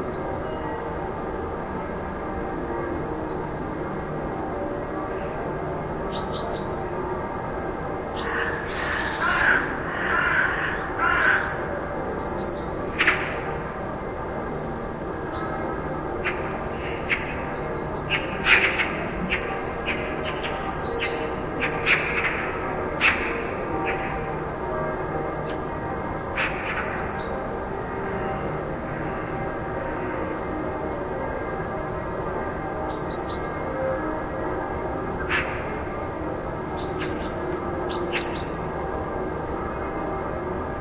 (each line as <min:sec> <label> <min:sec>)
0:00.0 churchbells 0:40.8
0:07.7 birds 0:30.6
0:35.2 birds 0:38.8